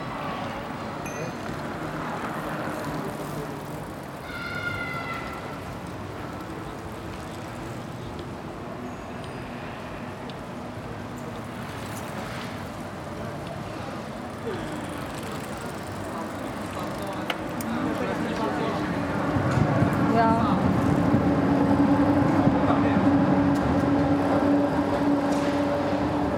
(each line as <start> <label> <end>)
0.0 Bikes 26.3
0.0 people passing by 26.3